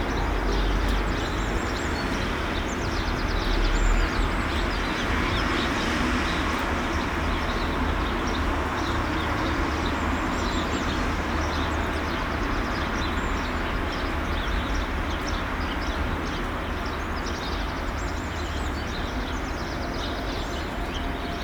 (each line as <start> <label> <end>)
0.0 rain 19.5